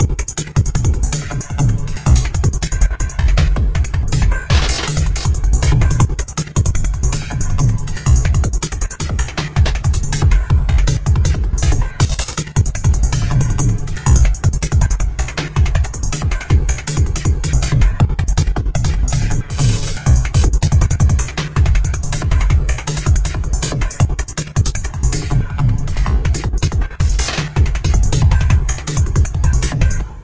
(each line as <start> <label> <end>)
0.0 acidized rhythm loop 30.2